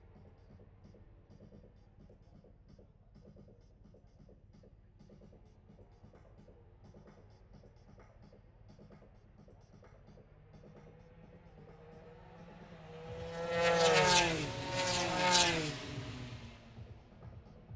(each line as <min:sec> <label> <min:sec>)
0:10.3 motorcycle grand prix 0:17.7